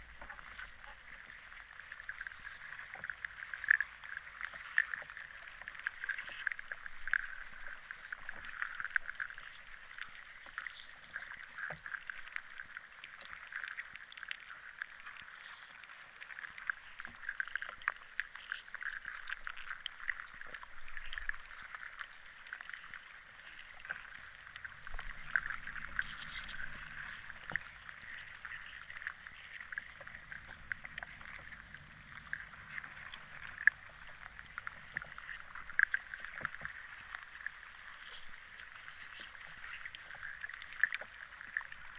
river underwater 0:00.0 - 0:41.9

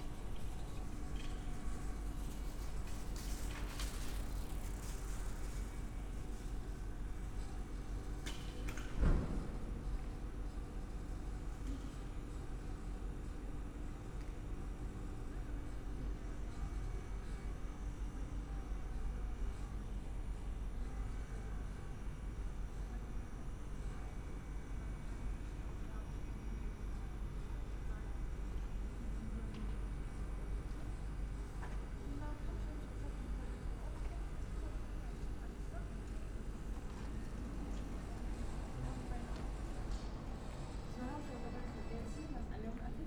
exhaust / ventilation is rattling 0:00.0 - 0:12.5

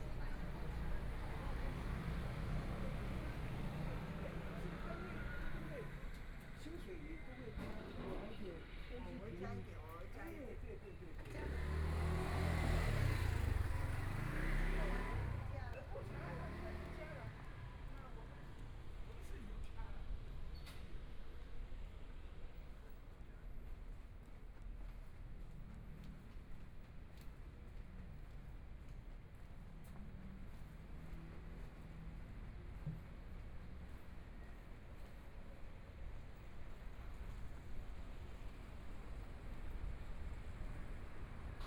Traffic Sound 0:00.0 - 0:08.9
Walking in the streets 0:00.0 - 0:41.6
Traffic Sound 0:09.8 - 0:20.3
Motorcycle sound 0:11.2 - 0:17.2
Traffic Sound 0:23.5 - 0:41.6

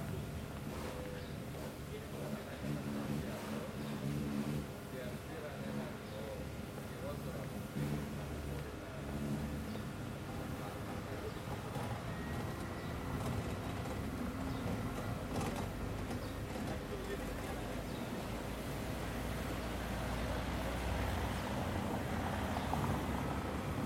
Mild traffic 0:00.0 - 0:23.8
people passing by, talking 0:00.0 - 0:23.8

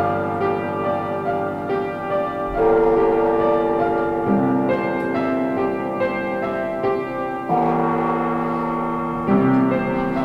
music piece 0:00.0 - 0:10.2

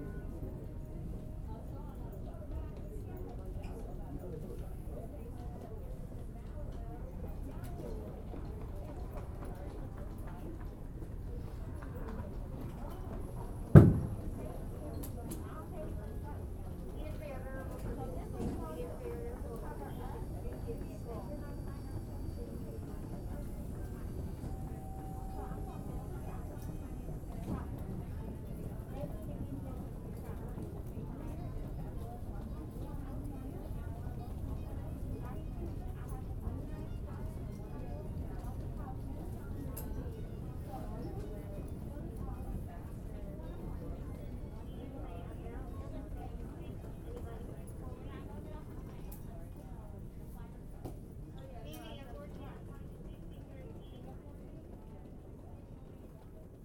people walking back and forth 0:00.0 - 0:56.6
PA announcements 0:13.0 - 0:31.1

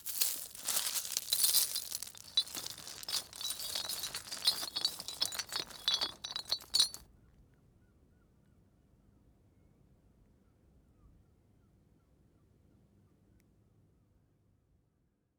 rusty chain and small stones 0:00.0 - 0:07.0

